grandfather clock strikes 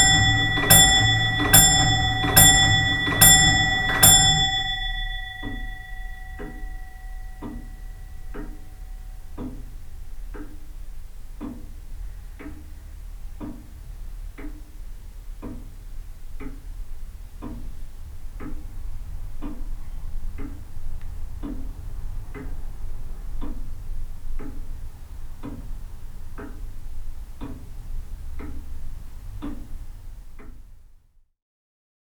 0:00.0 0:10.8

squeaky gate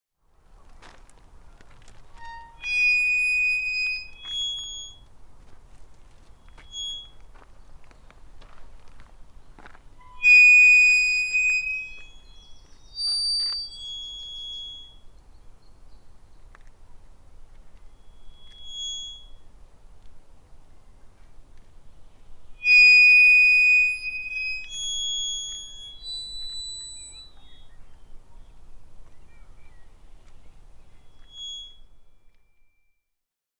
0:02.0 0:05.0, 0:06.3 0:07.3, 0:10.0 0:15.2, 0:17.8 0:19.6, 0:22.6 0:28.4, 0:30.8 0:33.0

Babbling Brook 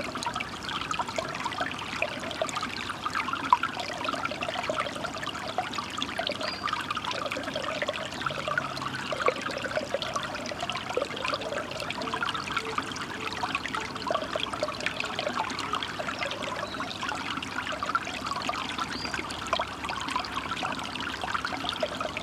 0:08.3 0:16.8

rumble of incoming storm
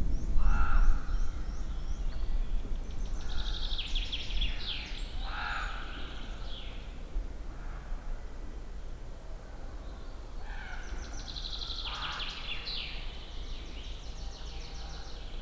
0:00.0 0:03.7

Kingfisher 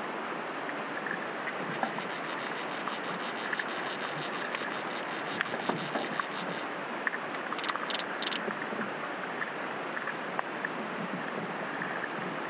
0:00.9 0:08.7

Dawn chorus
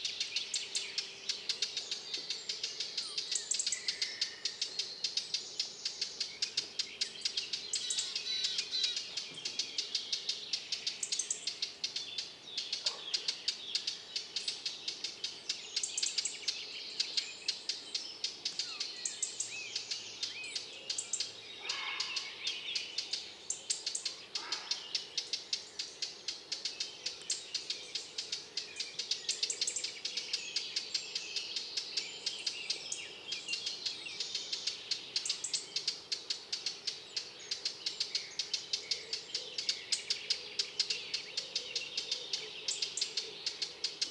0:21.6 0:22.4, 0:24.1 0:24.9

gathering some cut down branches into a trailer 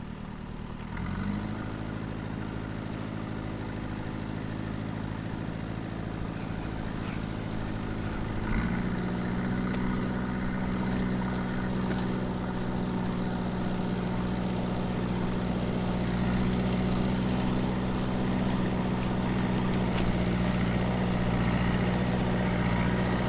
0:06.4 0:23.2

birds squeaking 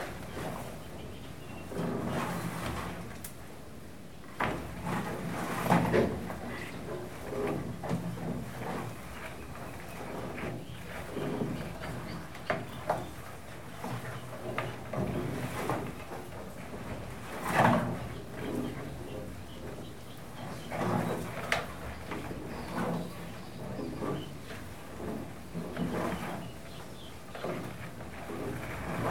0:18.1 0:24.4

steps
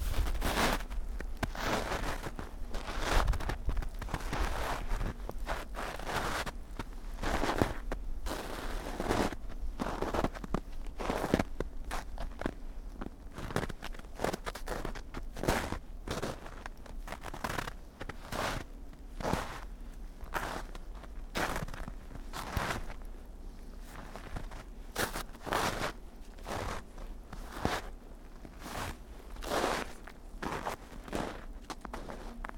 0:00.0 0:06.5

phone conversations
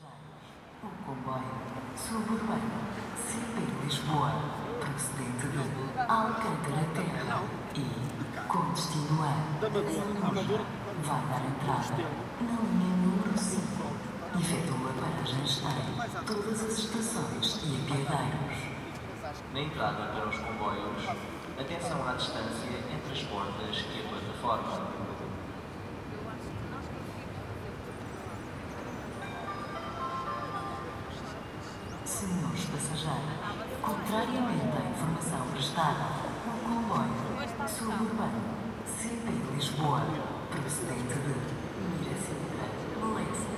0:27.7 0:43.5

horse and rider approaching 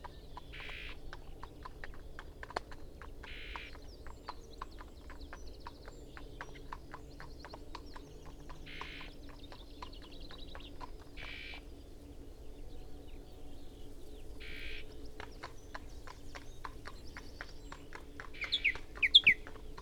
0:14.8 0:19.8

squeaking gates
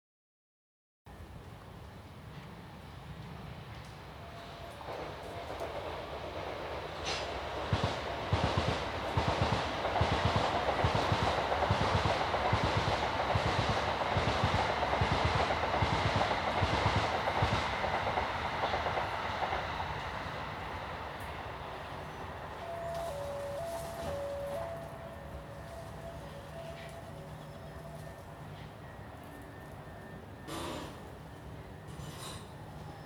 0:22.0 0:28.7, 0:31.8 0:33.0

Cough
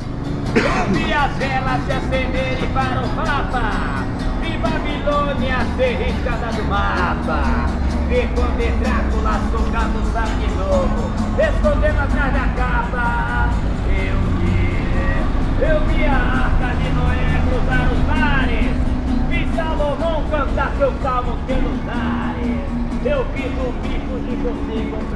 0:00.5 0:01.3

